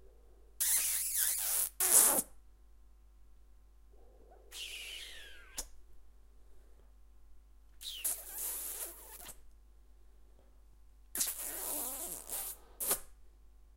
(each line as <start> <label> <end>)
0.6 man kissing 2.2
4.5 man kissing 5.8
7.8 man kissing 9.4
11.2 man kissing 13.1